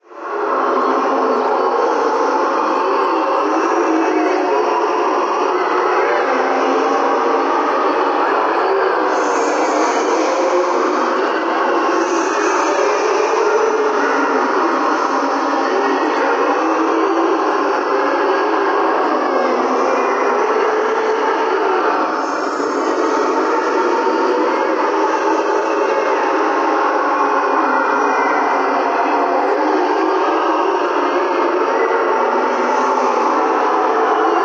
creepy tonal singing in the background 0:00.0 - 0:34.4

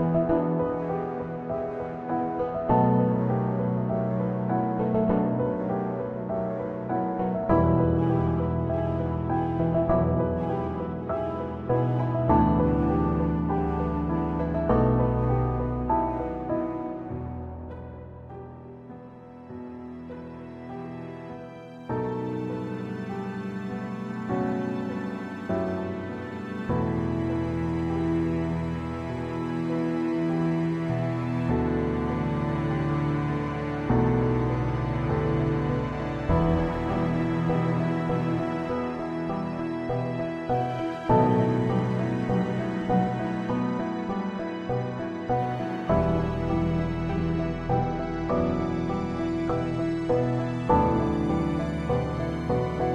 piano song 0:00.0 - 0:52.9

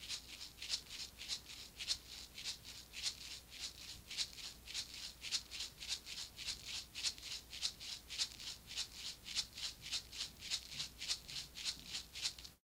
shaker 0:00.0 - 0:12.6

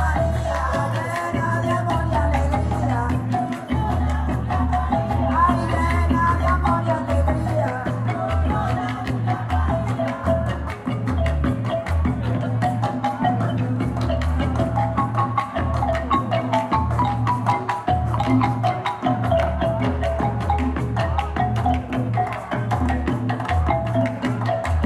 marimba 0:00.0 - 0:24.8

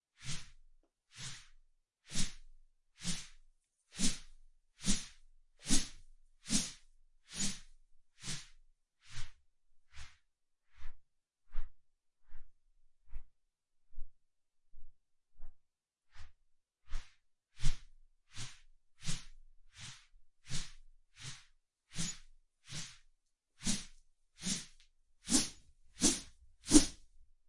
swang a straw broom 0:06.5 - 0:07.6
swang a straw broom 0:19.8 - 0:23.0
swang a straw broom 0:23.6 - 0:27.0

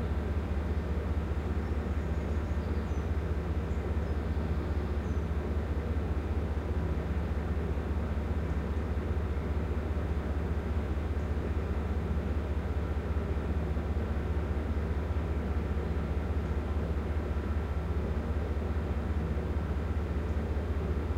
engine running idle 0:00.0 - 0:21.1
two passenger trains pass 0:04.9 - 0:21.1

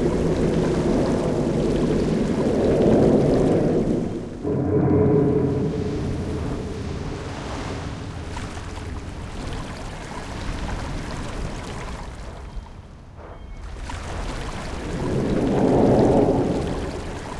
Wind 0:00.0 - 0:17.3
Drone 0:04.3 - 0:08.4

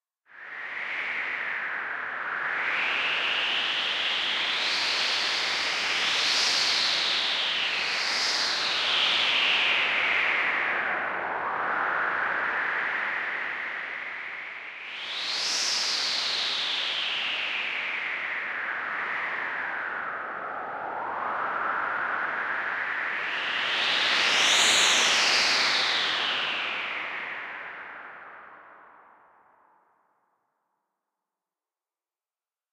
synthetic sound of wind 0:00.4 - 0:29.6

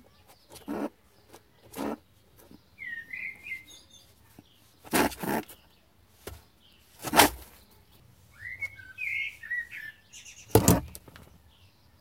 Rabbit snarls and growls 0:00.5 - 0:01.0
Rabbit snarls and growls 0:04.8 - 0:05.6

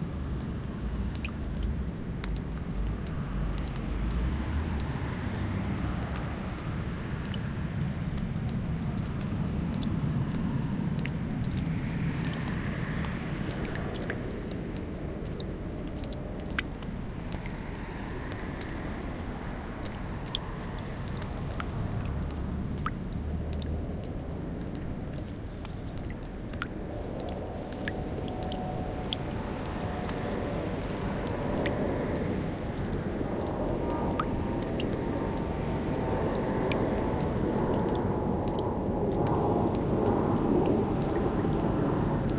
Melting snow dripping from trees 0:00.0 - 0:42.3
passing airplane 0:03.1 - 0:42.3

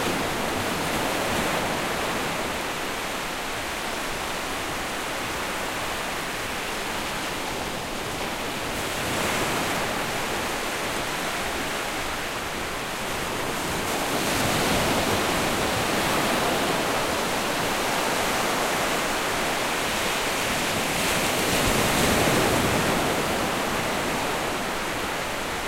Ocean Waves 0:00.0 - 0:25.6

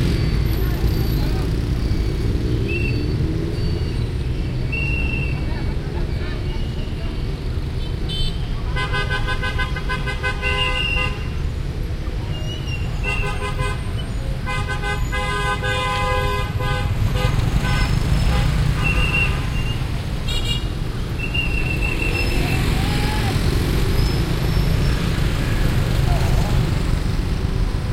Heavy Traffic at Crossroad 0:00.0 - 0:27.9
all kinds of vehicles passing 0:00.0 - 0:27.9
Whistles of police men 0:01.8 - 0:04.1
Whistles of police men 0:04.7 - 0:05.5
Whistles of police men 0:21.2 - 0:23.2

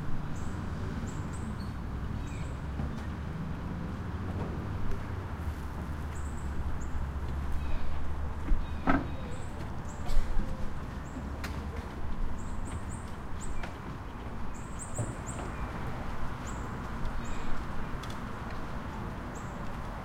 birds 0:06.0 - 0:18.2

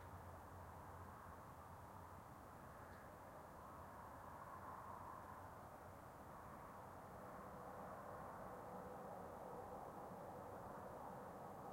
Autobahn Highway Background Far 0:00.0 - 0:11.7

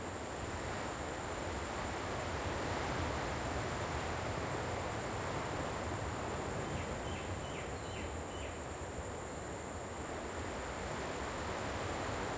insects chirping and hissing 0:05.2 - 0:12.3

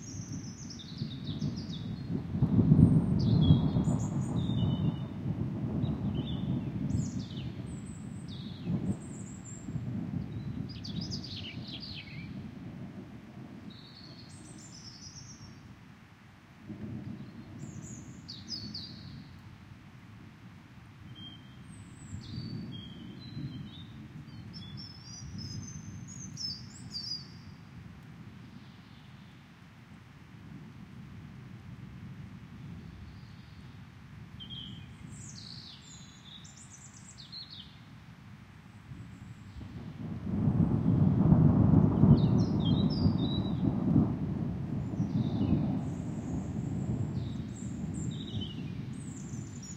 upcoming rainfall 0:00.0 - 0:49.7
wind 0:00.0 - 0:49.7
rolling thunder 0:00.1 - 0:14.8
rolling thunder 0:39.5 - 0:49.7

